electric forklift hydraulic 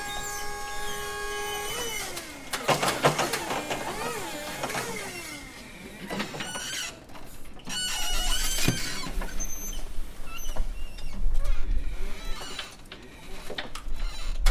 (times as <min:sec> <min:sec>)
0:00.0 0:11.1